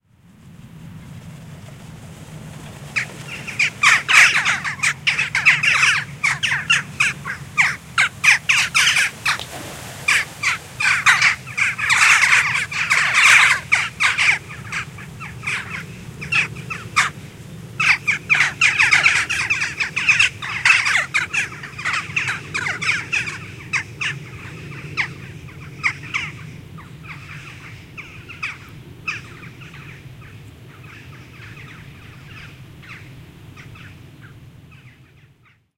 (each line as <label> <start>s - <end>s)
Callings from a 40-odd Jackdaw group in flight 2.6s - 9.4s
noise of air friction on their wings 9.0s - 17.8s
Callings from a 40-odd Jackdaw group in flight 10.0s - 35.6s